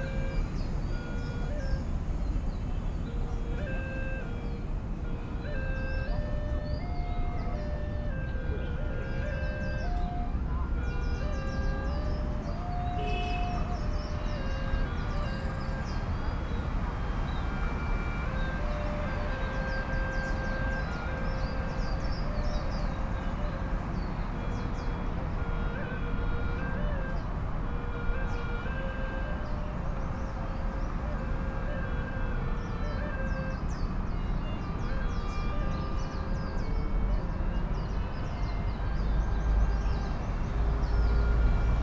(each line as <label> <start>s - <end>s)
Birds sing in the mangroves 0.0s - 5.0s
Traditional flutes 0.0s - 41.8s
traffic rumbles and beeps past 0.0s - 41.8s
Birds sing in the mangroves 5.7s - 26.4s
Birds sing in the mangroves 32.5s - 37.0s
Birds sing in the mangroves 37.7s - 41.8s